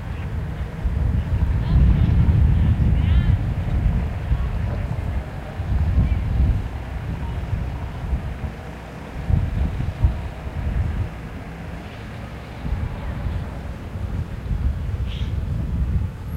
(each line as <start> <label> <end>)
0.0 people speaking 11.0
0.0 small boats go by 16.3
0.0 small vehicles 16.3
0.0 wind 16.3